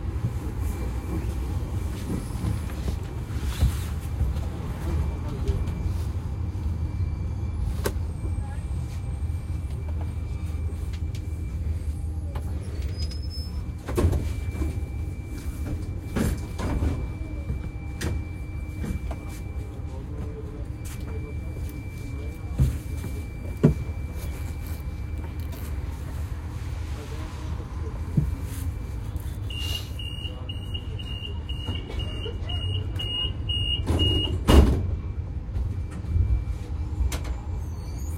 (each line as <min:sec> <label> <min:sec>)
0:00.0 passengers 0:38.1
0:00.0 tram 0:38.1